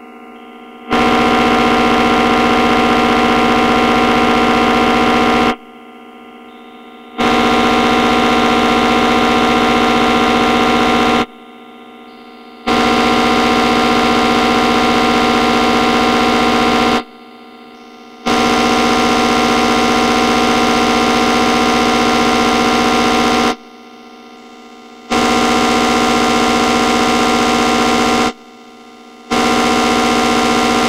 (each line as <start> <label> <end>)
0.0 Synthesizer 30.8